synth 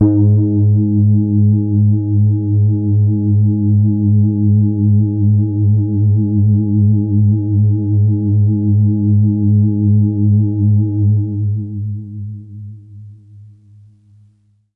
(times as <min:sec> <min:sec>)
0:00.0 0:02.3